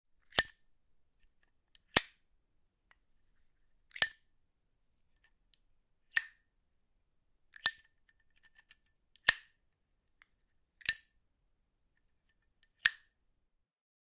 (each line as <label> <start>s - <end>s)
Opening and closing of zippo lighter 0.3s - 0.6s
Opening and closing of zippo lighter 1.7s - 2.2s
Opening and closing of zippo lighter 3.9s - 4.3s
Opening and closing of zippo lighter 6.1s - 6.5s
Opening and closing of zippo lighter 7.5s - 9.6s
Opening and closing of zippo lighter 10.8s - 11.1s
Opening and closing of zippo lighter 12.6s - 13.2s